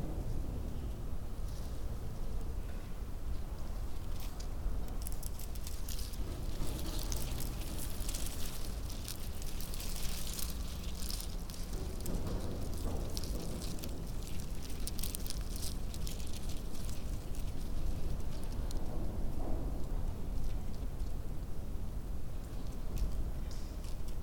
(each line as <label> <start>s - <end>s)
wind rips right through the space 0.0s - 24.2s
Discarded VHS tape fluttering in the wind 3.6s - 21.4s